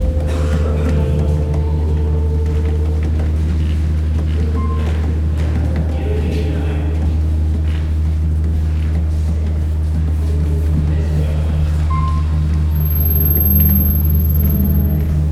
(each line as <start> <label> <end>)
12.7 high frequency blips 15.3